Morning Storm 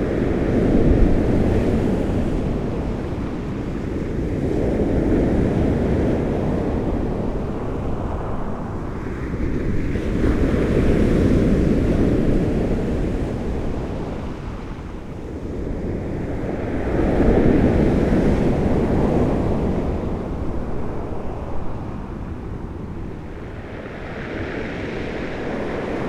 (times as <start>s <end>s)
22.1s 26.0s